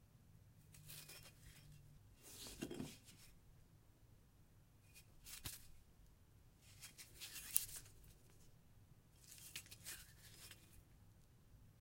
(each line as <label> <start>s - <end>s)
Brick handling sounds 0.8s - 3.3s